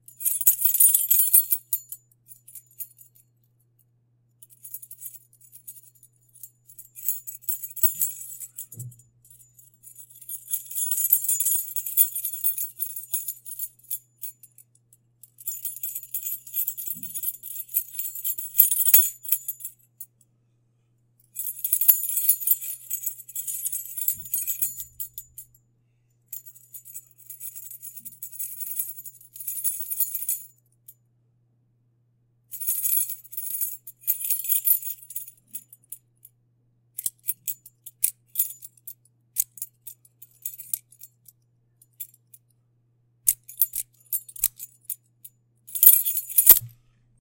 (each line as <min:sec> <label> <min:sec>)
0:15.6 Key ring sound when running 0:19.7
0:45.8 Key ring sound when running 0:46.7